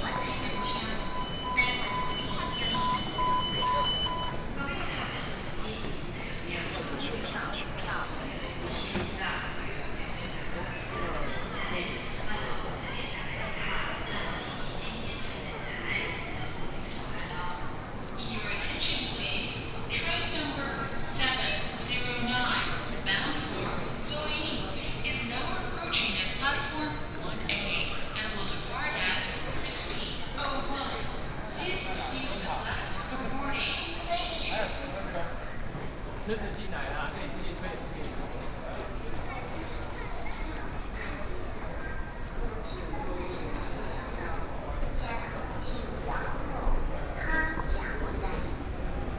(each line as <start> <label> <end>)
0.0 Station broadcast messages 12.6